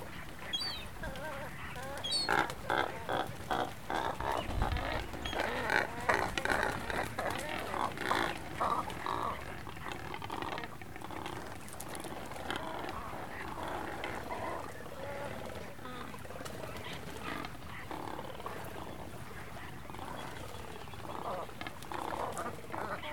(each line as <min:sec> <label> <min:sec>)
0:00.0 Cormorants 0:23.1
0:00.0 seagulls 0:23.1
0:00.0 small ocean birds 0:23.1
0:00.2 bird droppings 0:23.1